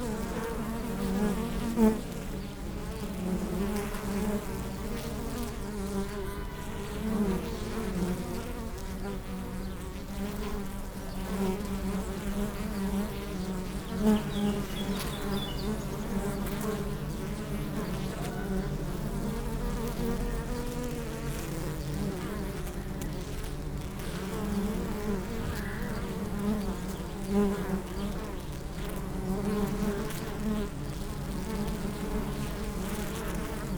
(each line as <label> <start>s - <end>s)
bee hive 0.0s - 33.7s